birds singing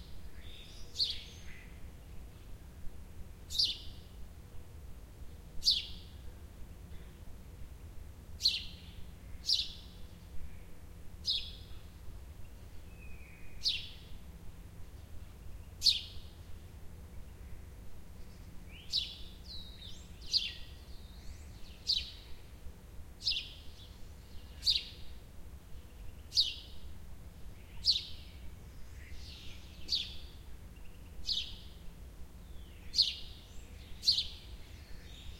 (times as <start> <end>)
0.3 1.8, 3.5 4.0, 5.6 6.0, 8.4 11.9, 12.5 14.2, 15.0 16.4, 18.2 22.5, 23.2 25.2, 25.8 26.9, 27.6 31.8, 32.4 35.3